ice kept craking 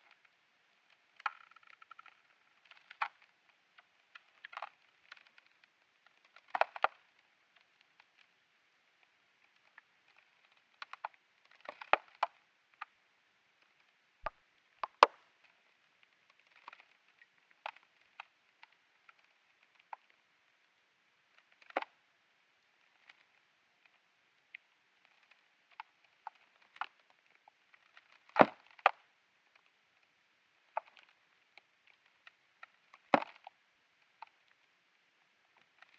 0:03.8 0:07.1, 0:25.0 0:29.0, 0:30.7 0:33.6

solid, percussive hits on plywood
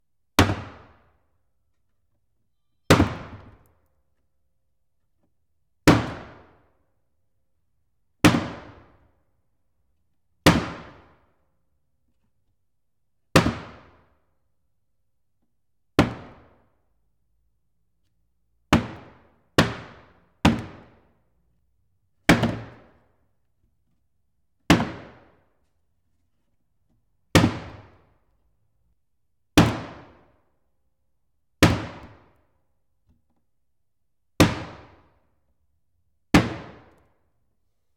0:02.9 0:03.6, 0:16.0 0:16.5, 0:18.7 0:21.0, 0:22.3 0:23.0

